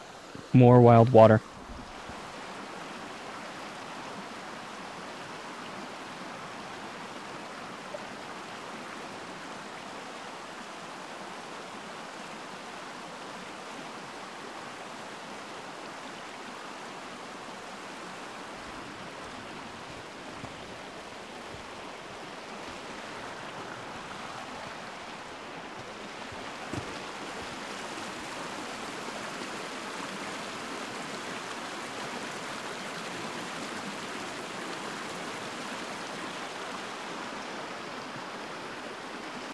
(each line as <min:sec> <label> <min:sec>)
0:00.0 rushing river 0:39.5